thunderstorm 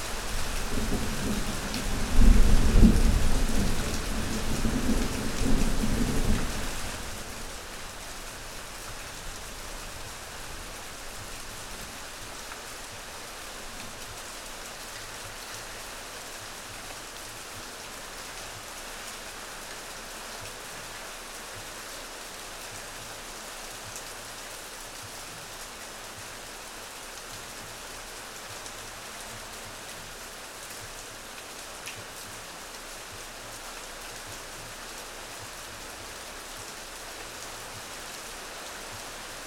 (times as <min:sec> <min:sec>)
0:00.3 0:07.3